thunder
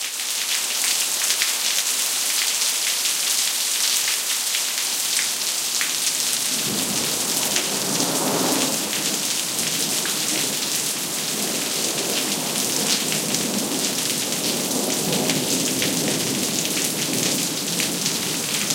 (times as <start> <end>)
6.5 10.6